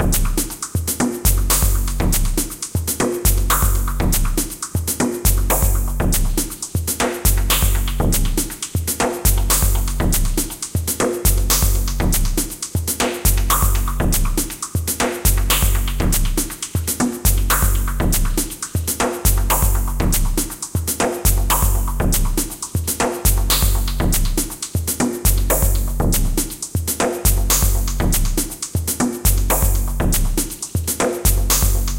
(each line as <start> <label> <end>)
0.0 beat 31.9